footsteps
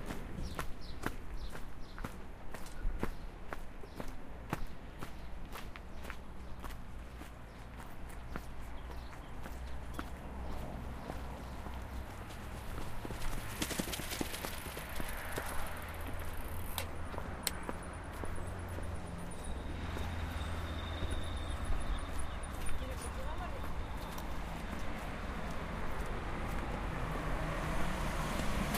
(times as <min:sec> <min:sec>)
0:05.0 0:27.4